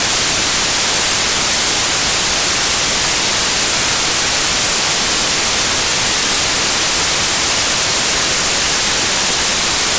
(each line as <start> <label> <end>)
0.0 White Noise 9.9